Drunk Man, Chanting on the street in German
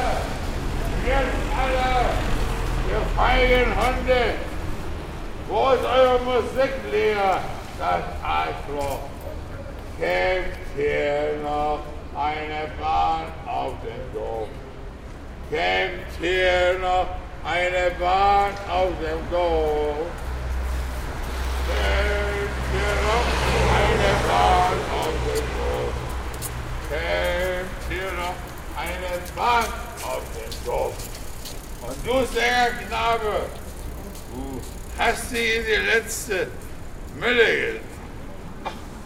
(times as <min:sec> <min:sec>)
0:00.0 0:04.6, 0:05.5 0:09.1, 0:10.0 0:14.6, 0:15.5 0:20.2, 0:21.6 0:26.1, 0:26.8 0:31.0, 0:31.8 0:33.6, 0:34.6 0:37.9